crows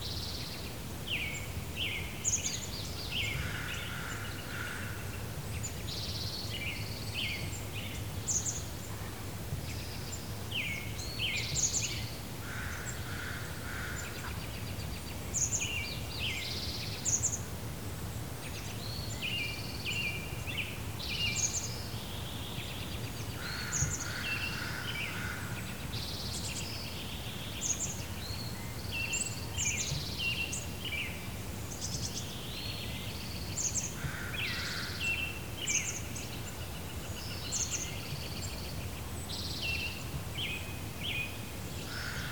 23.4 25.6, 34.0 35.0, 41.9 42.3

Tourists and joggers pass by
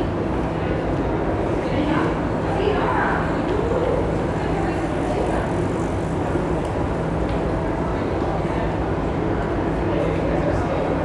2.7 8.5

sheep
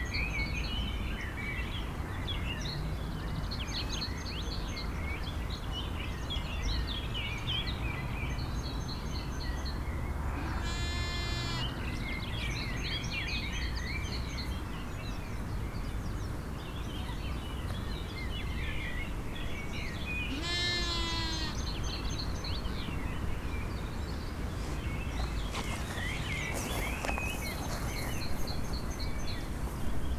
10.4 11.8, 20.3 21.6

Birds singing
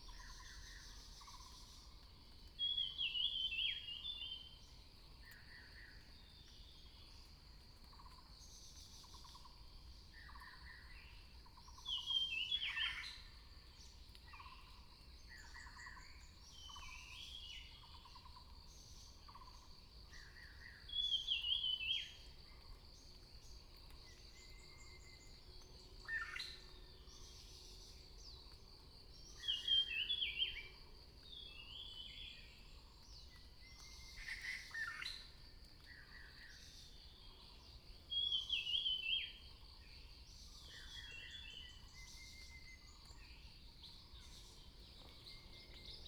23.1 35.2, 35.8 46.0

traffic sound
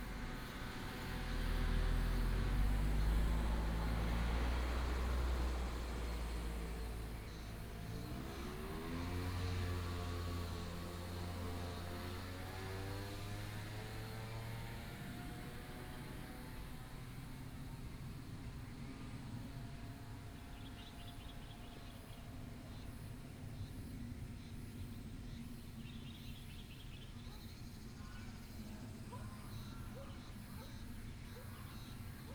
0.0 23.0

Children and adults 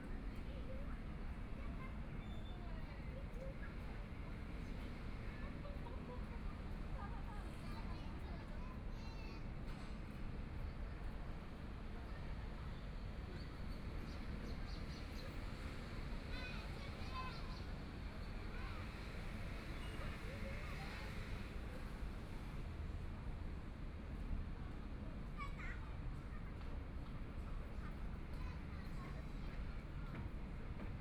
25.4 31.0

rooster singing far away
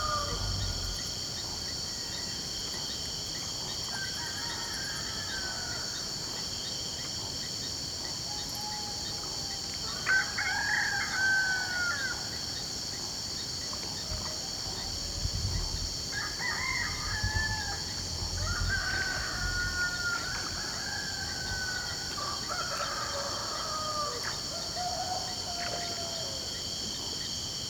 0.0 1.2, 4.0 6.1, 10.0 12.3, 16.1 26.6

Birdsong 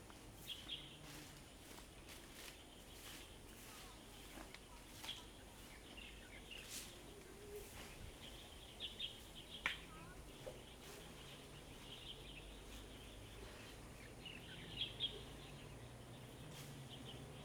5.0 17.4

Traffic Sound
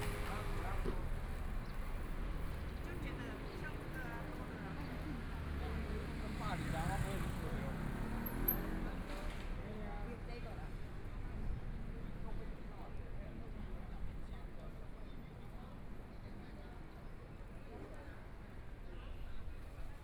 0.0 9.7

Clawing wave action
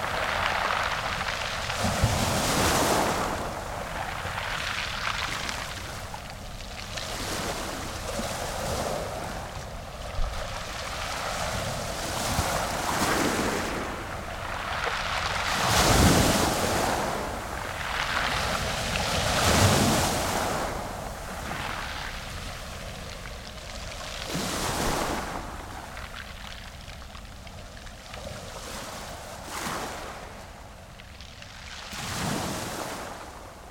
0.0 26.8

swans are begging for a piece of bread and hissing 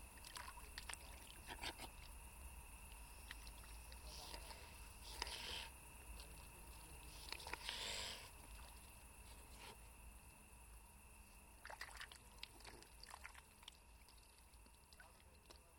5.0 5.7, 7.3 8.3

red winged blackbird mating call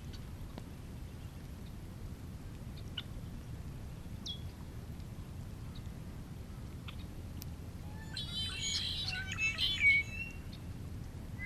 7.9 10.7

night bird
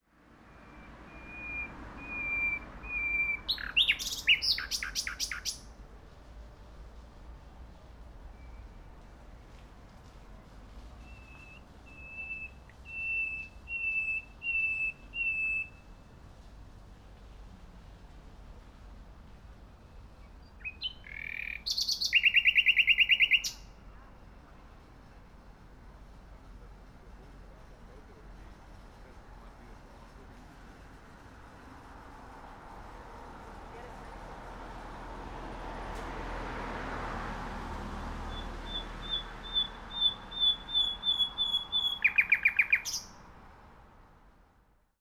0.6 5.7, 11.0 15.9, 20.2 23.8, 38.3 43.2

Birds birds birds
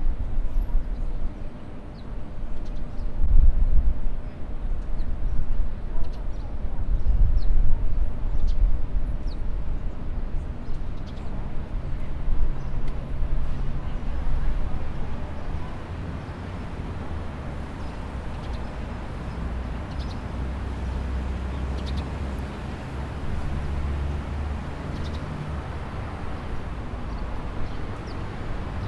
15.3 28.8

